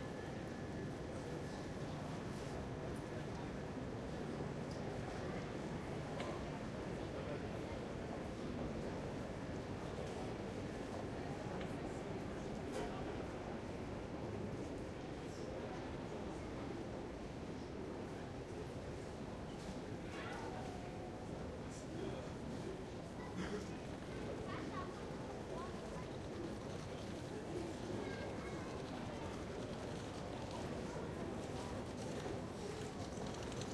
Arriving and departing trains 0:00.0 - 0:33.4

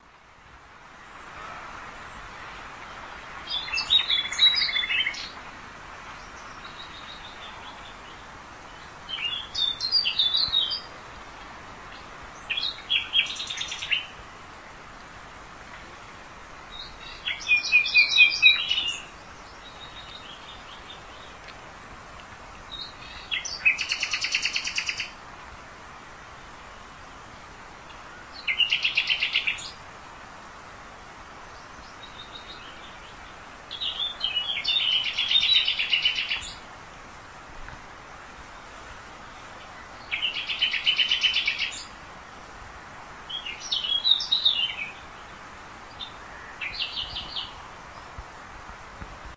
city noise 0:00.0 - 0:49.3
singing birds 0:00.9 - 0:14.2
singing birds 0:16.0 - 0:21.6
singing birds 0:22.6 - 0:25.2
singing birds 0:26.5 - 0:29.8
singing birds 0:31.4 - 0:36.7
singing birds 0:38.3 - 0:42.0
singing birds 0:43.2 - 0:48.2

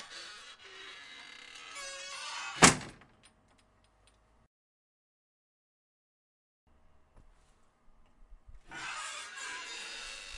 Squeaking 0:00.0 - 0:02.8
old style screen door opening and closing 0:00.0 - 0:04.0
old style screen door opening and closing 0:08.6 - 0:10.3
Squeaking 0:08.7 - 0:10.3

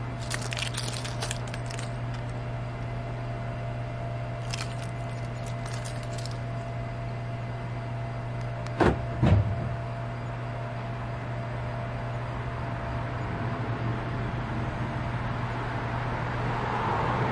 Jingling keys 0:00.0 - 0:02.4
traffic passes 0:00.0 - 0:03.2
constant electrical hum 0:00.0 - 0:16.7
Jingling keys 0:04.4 - 0:06.6
traffic passes 0:11.8 - 0:17.3

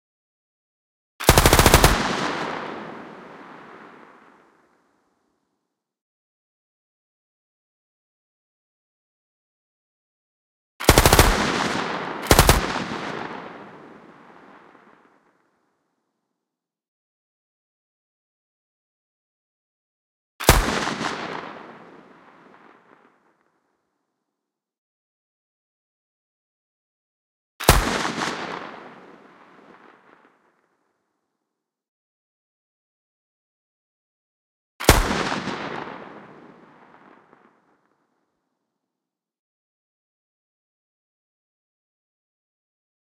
Light machine gun 0:01.2 - 0:02.4
Light machine gun 0:10.8 - 0:12.9

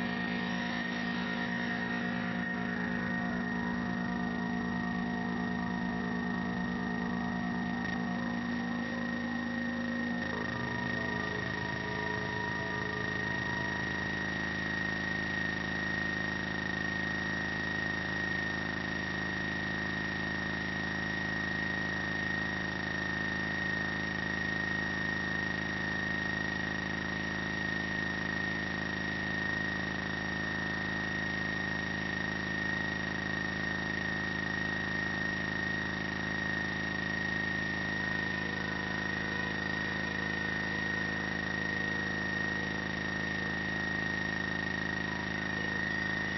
feedback 0:00.0 - 0:15.0

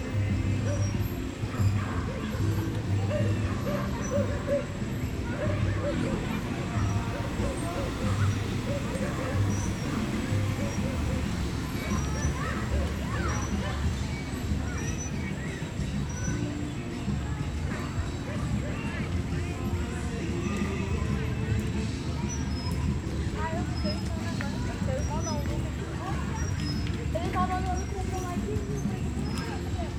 motorcycle 0:00.0 - 0:27.9
People pass by 0:00.0 - 0:29.9
children playground 0:00.0 - 0:29.9
music 0:00.0 - 0:29.9
dog 0:00.7 - 0:04.7

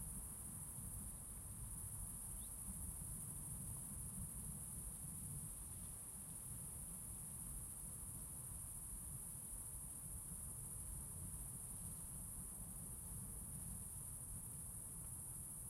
crickets 0:00.0 - 0:15.6

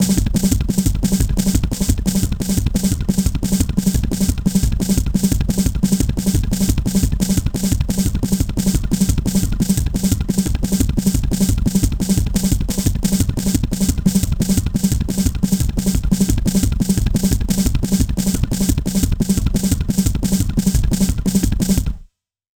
Bass Drum 0:00.0 - 0:22.0
Snare Drum 0:10.7 - 0:22.0

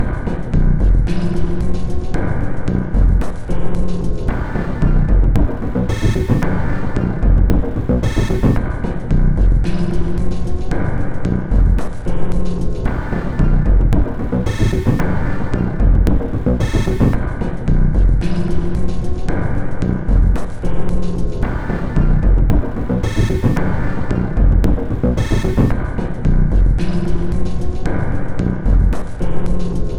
Drum Loop 0:04.3 - 0:08.6
Drum Loop 0:12.9 - 0:17.3
Drum Loop 0:21.4 - 0:25.9

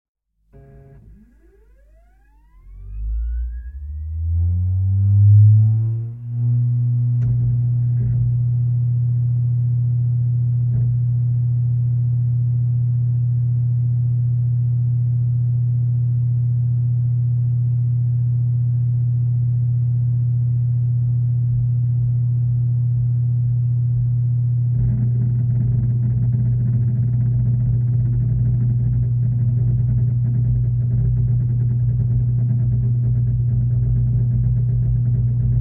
sat receiver with harddisk is turned on 0:00.6 - 0:04.2

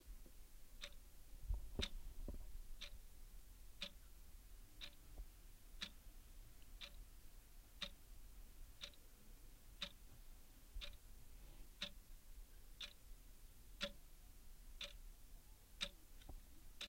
Ticking clock 0:00.8 - 0:01.0
Ticking clock 0:04.8 - 0:05.0
Ticking clock 0:05.8 - 0:06.0
Ticking clock 0:06.8 - 0:07.0
Ticking clock 0:07.8 - 0:08.0
Ticking clock 0:08.8 - 0:09.0
Ticking clock 0:09.8 - 0:10.0
Ticking clock 0:10.8 - 0:11.0
Ticking clock 0:11.8 - 0:12.0
Ticking clock 0:12.8 - 0:13.0
Ticking clock 0:13.8 - 0:14.0
Ticking clock 0:14.8 - 0:15.0
Ticking clock 0:15.8 - 0:16.0

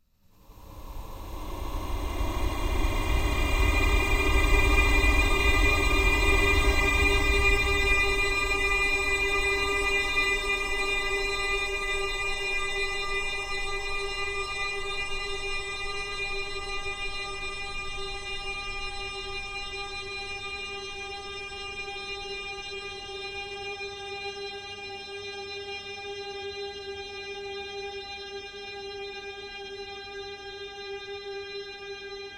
drone 0:00.4 - 0:22.0

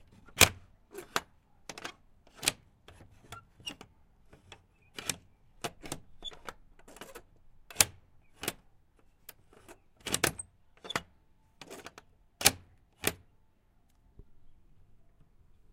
bolt lock on my wendy house 0:00.1 - 0:13.3

